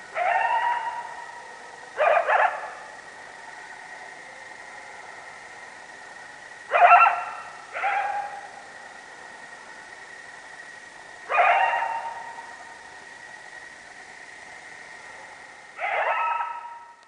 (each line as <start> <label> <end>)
0.0 Coyotes howling 10.4
11.0 Coyotes howling 13.0
14.7 Coyotes howling 17.0